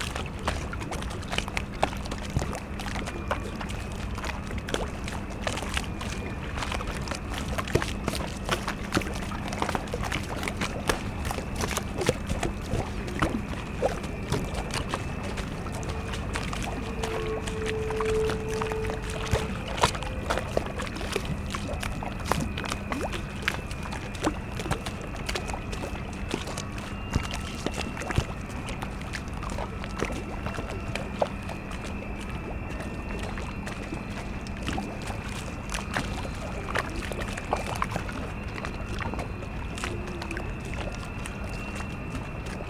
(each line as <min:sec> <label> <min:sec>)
0:00.0 lapping waves of the spree river 0:42.6
0:00.0 squeaking drone of the ferris wheel 0:42.6
0:00.0 towboat enters the port 0:42.6